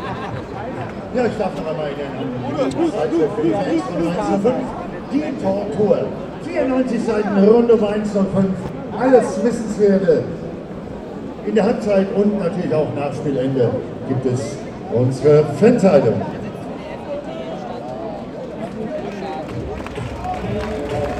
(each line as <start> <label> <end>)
0.0 footbal fans 3.6
0.0 stadium commentator 21.1
17.8 footbal fans 21.1